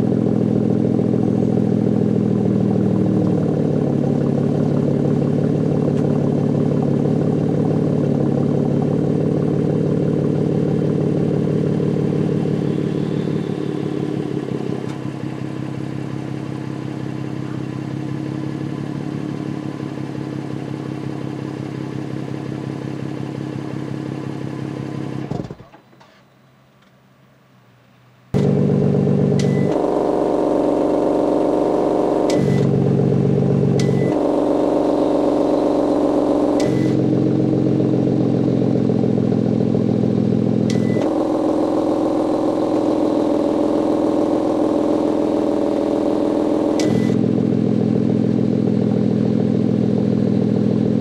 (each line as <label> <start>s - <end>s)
revving 0.0s - 25.5s
Starting engine 28.4s - 47.9s
revving 28.4s - 51.0s